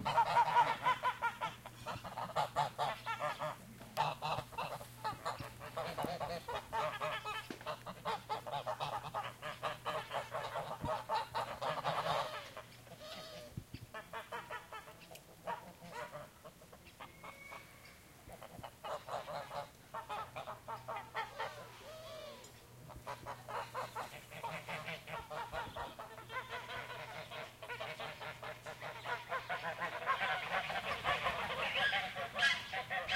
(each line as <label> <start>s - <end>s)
Geese honking around a farmyard 0.0s - 33.1s
pigeons cooing 18.9s - 33.1s